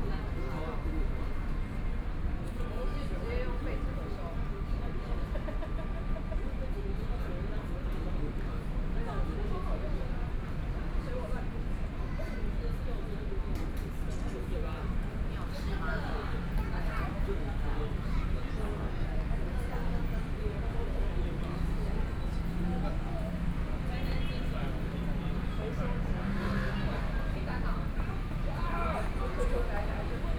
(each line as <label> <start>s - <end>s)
Pedestrian 0.0s - 30.3s
Traffic Sound 14.6s - 30.3s